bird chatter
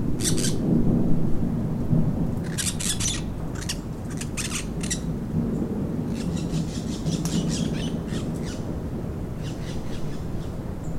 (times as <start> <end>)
2.4 5.1